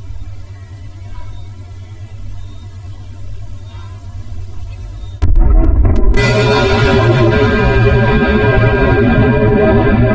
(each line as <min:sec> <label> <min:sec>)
0:05.2 Bang 0:10.1